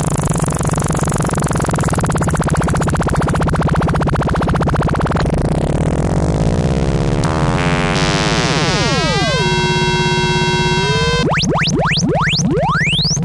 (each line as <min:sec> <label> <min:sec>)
0:07.2 modular synth 0:13.2